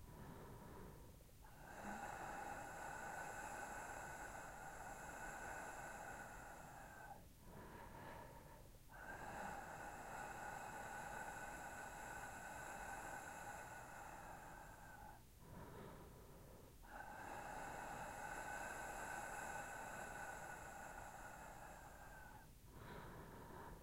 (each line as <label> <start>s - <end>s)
breathing into mic 0.0s - 23.8s